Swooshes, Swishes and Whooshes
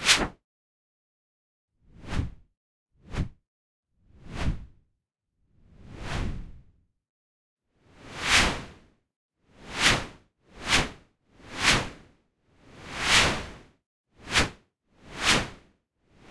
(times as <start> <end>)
1.9 2.4, 3.0 3.4, 4.1 4.8, 5.7 6.7, 12.8 13.6